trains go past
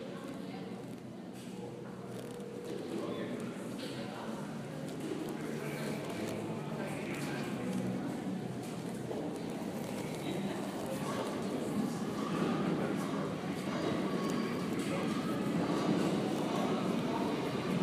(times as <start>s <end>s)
10.4s 17.8s